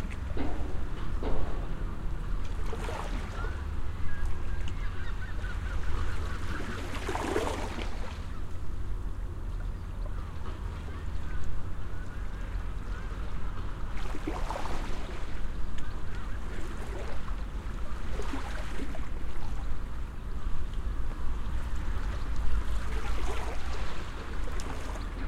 0.0s Waves lapping 25.2s
2.9s Seagulls 8.5s

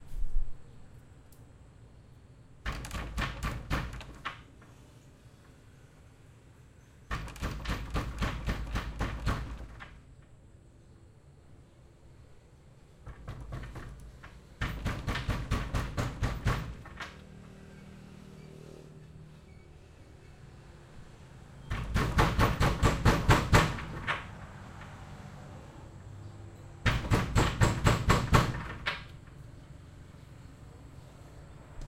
2.6s Banging on wooden door 4.5s
7.1s Banging on wooden door 10.0s
13.0s Banging on wooden door 17.2s
21.7s Banging on wooden door 24.4s
26.8s Banging on wooden door 29.1s

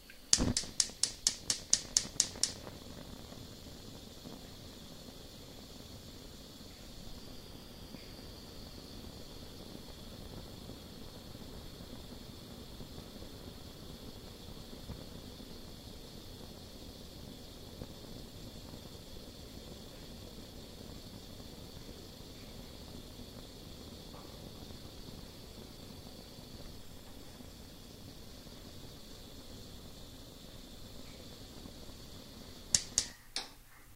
0.0s flames as they flickered 33.9s

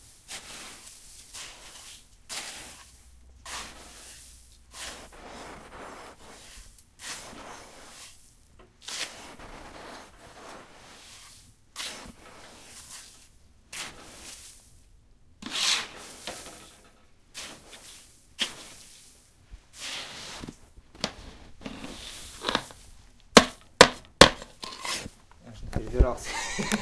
0.0s clean snow 14.8s
15.4s clean snow 16.5s
17.3s clean snow 20.6s
21.2s clean snow 22.8s

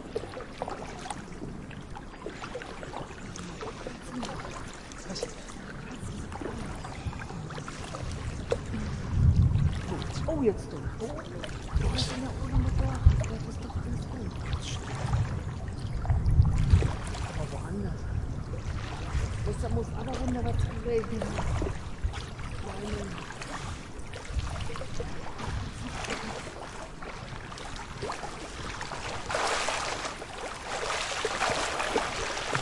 0.0s Swimming in a natural pool 32.6s

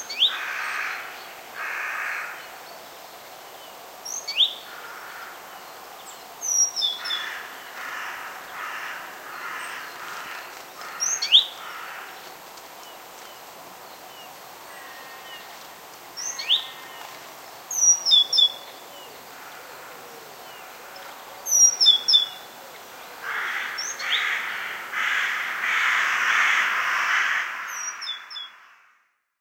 0.3s crows 2.4s
4.7s crows 5.5s
7.0s crows 12.3s
14.7s crows 15.5s
23.2s crows 29.1s

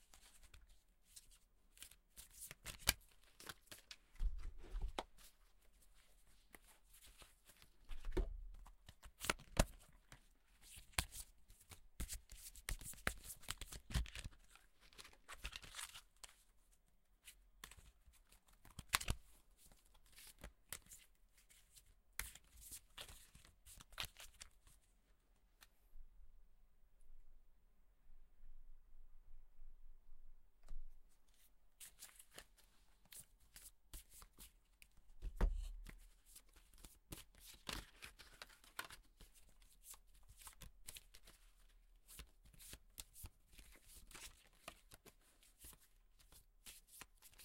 6.0s Cards being handled 16.4s
31.4s Cards being handled 47.4s

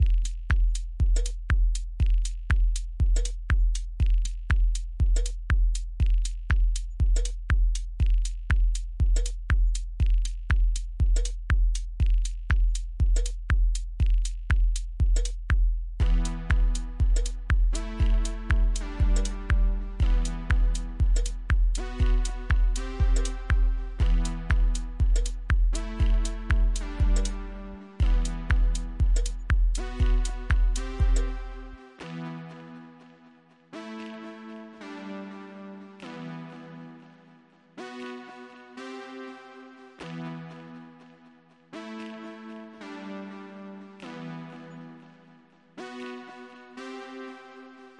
0.0s beat 32.1s
16.0s chords 47.9s

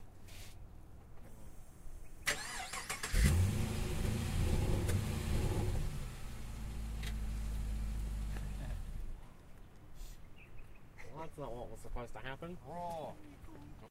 2.3s engine ignition, idle then turn off 9.0s

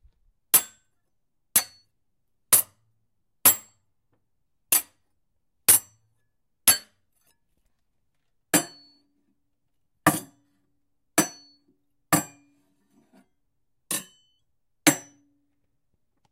13.9s blade on wood metal clank tink 15.2s

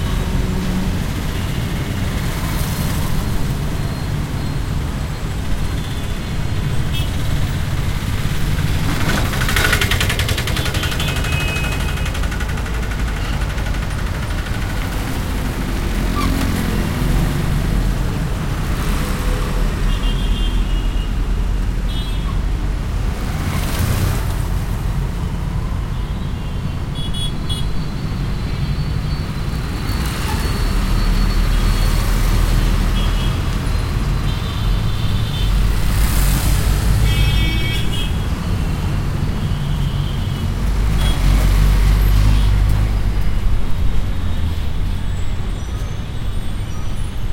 0.0s cars 47.3s
0.0s trucks 47.3s
0.0s tuktuks 47.3s
7.8s mopeds 17.6s

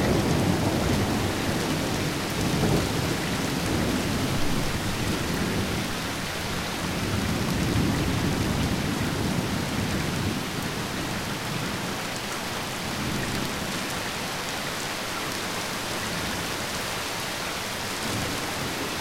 0.0s rain 19.0s

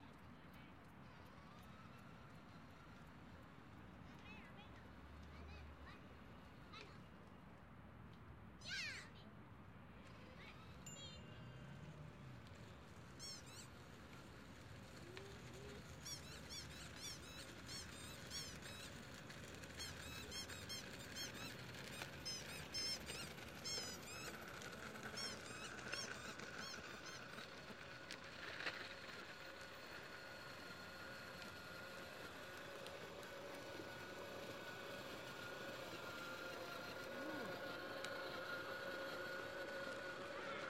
0.0s boy on tricycle passing by 7.5s
0.0s City-sounds 40.6s
10.0s boy on tricycle passing by 40.6s
10.0s Family with children passes by 40.6s

